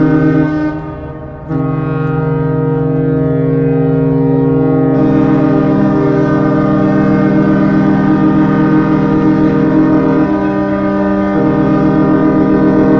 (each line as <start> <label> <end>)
0.0 Ships Horns 12.9